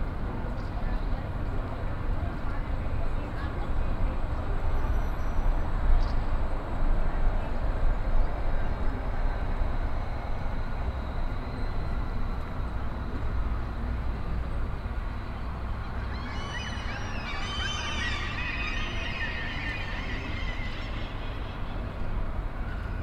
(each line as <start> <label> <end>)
0.0 pedestrians 23.0
0.0 traffic 23.0
15.8 Gulls 22.0